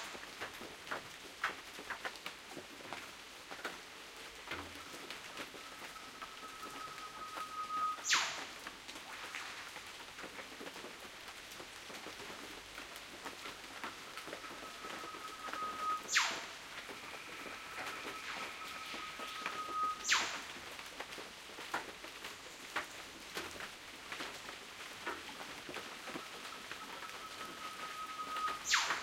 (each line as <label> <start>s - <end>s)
Rain 0.0s - 29.0s
Northern Whipbirds 7.4s - 8.5s
Northern Whipbirds 14.5s - 20.6s
Northern Whipbirds 28.2s - 29.0s